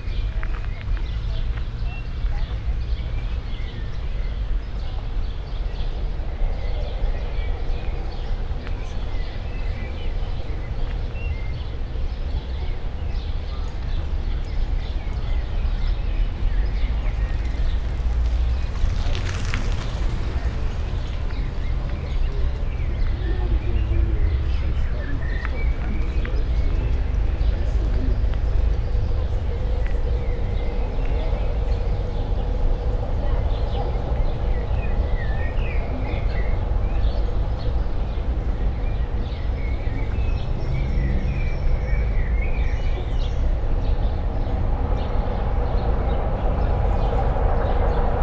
slow walk on sandy pathway 0:00.0 - 0:05.6
bikers 0:00.0 - 0:48.2
slow walk on sandy pathway 0:15.8 - 0:44.2

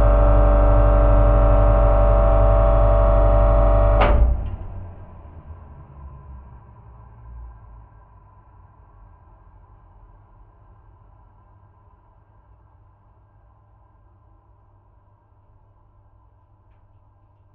droning air conditioner 0:00.0 - 0:17.5

